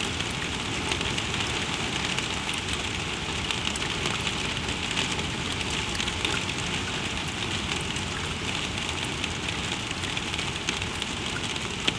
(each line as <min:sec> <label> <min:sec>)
0:00.0 Rain in gutters 0:11.9